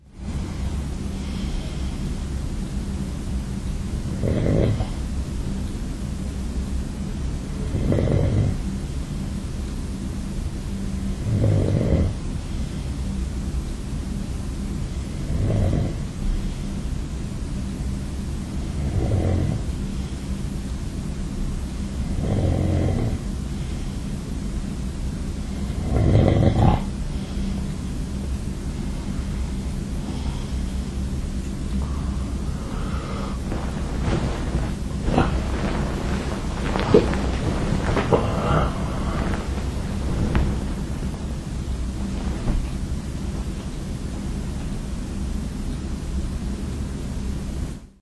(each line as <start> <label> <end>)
0.1 bed 47.8
0.3 breath 2.2
30.0 breath 30.9
31.8 breath 35.6
37.9 breath 39.7